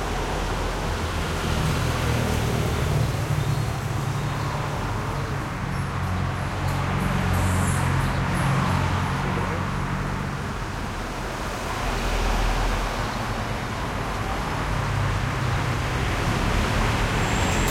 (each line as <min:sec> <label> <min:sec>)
0:00.0 traffic medium busy 0:17.7